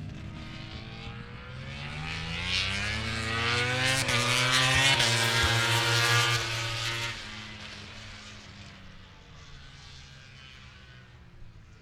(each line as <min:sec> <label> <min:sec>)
0:00.0 990cc bikes 0:11.8